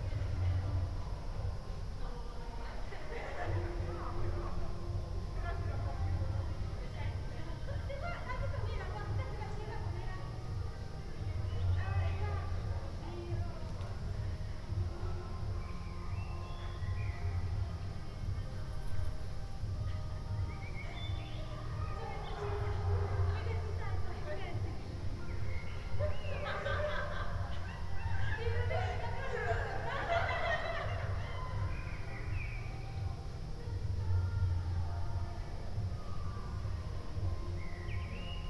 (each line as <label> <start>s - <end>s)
laughing students 2.7s - 4.4s
laughing students 25.7s - 32.4s